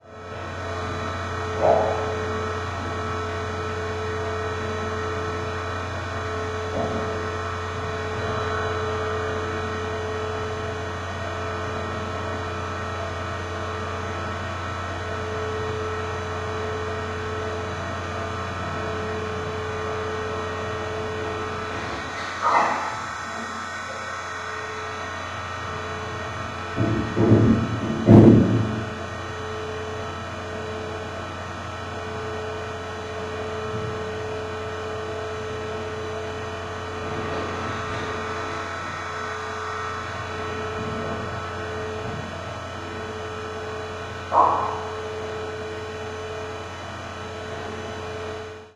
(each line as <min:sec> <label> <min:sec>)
0:00.0 Machine Hum 0:48.7